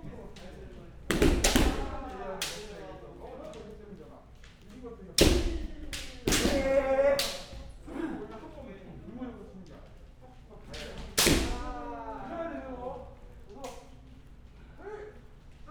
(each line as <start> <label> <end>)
1.1 bamboo swords 2.9
5.2 bamboo swords 7.8
10.7 bamboo swords 12.1